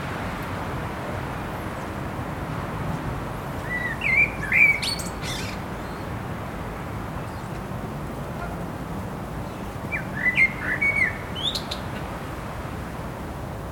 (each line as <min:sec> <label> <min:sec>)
0:00.0 traffic noise 0:13.7
0:03.6 bird song 0:06.1
0:09.4 bird song 0:12.1